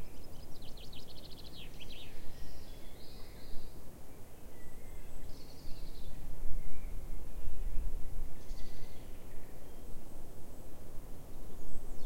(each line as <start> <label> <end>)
0.0 wind through the trees above 12.0